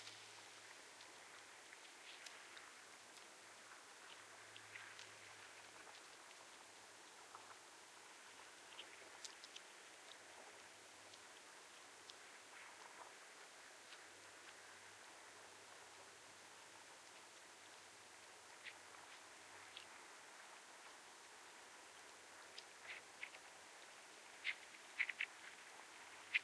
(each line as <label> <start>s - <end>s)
Water 0.0s - 26.4s